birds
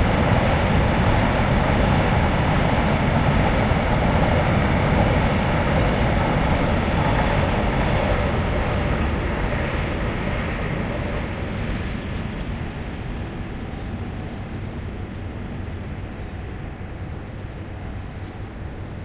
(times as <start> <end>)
9.4 13.0, 13.6 19.0